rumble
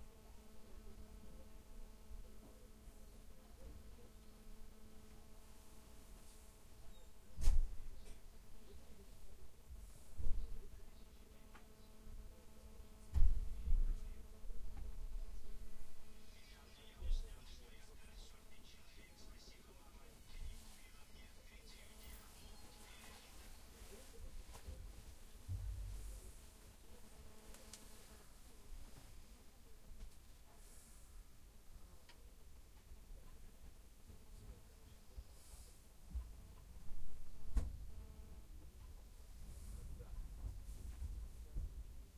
22.8s 27.1s

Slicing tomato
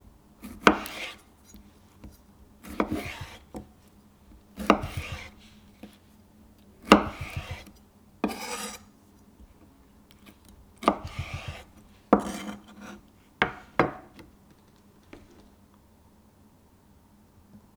0.4s 6.1s, 6.7s 13.6s

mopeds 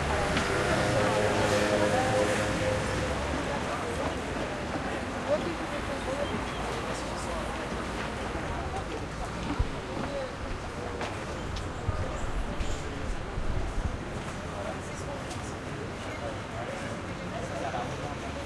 0.0s 3.2s

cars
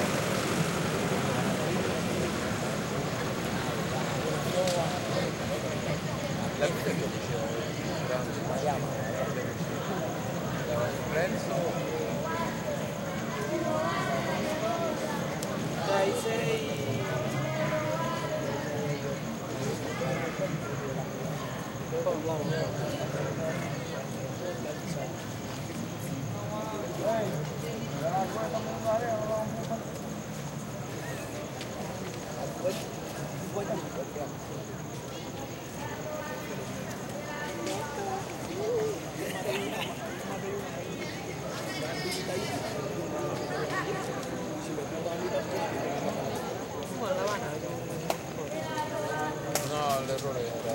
0.0s 7.4s

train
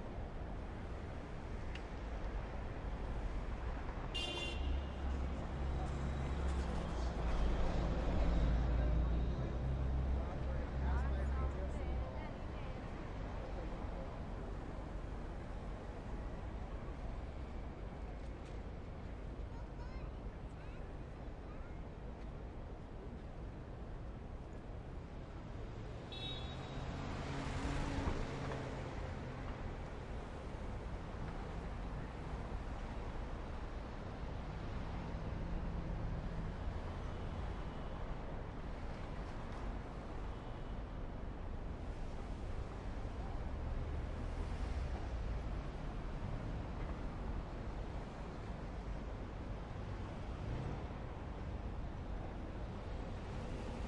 0.0s 26.1s, 27.6s 35.2s

